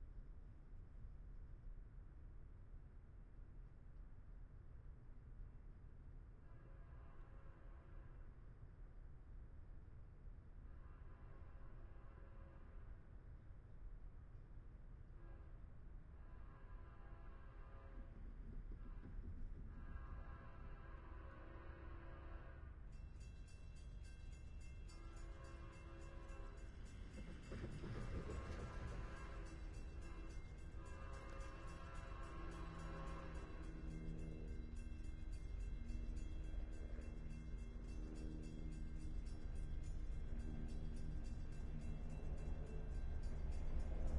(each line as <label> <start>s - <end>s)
long freight train 1.8s - 44.1s
helicopter 26.5s - 30.4s